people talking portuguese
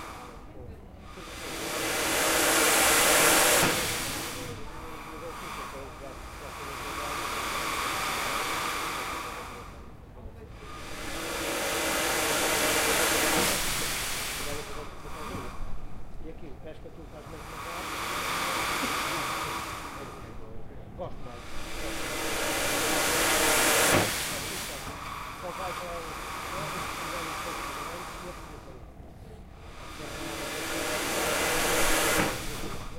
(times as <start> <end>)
0.0 1.8, 4.2 10.8, 14.4 21.5